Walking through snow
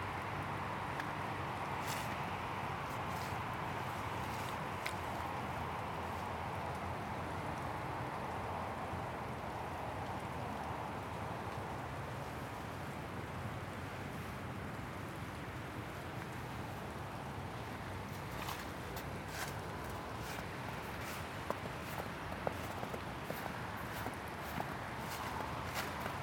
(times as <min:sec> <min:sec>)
0:01.8 0:02.2, 0:02.8 0:05.3, 0:18.0 0:26.2